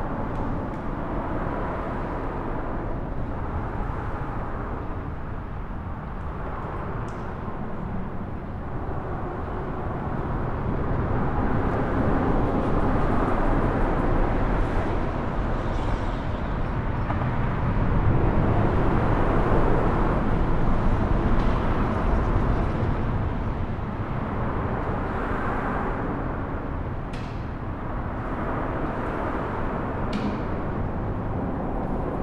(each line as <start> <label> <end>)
0.0 Train Tracks underneath Expressway 32.2